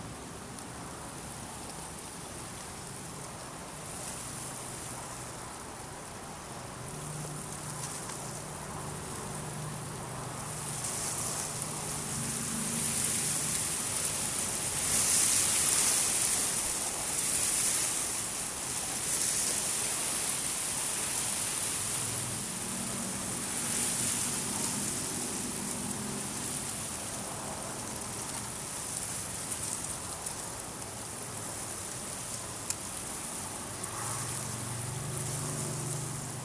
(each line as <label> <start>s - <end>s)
Wind in barley 0.0s - 36.4s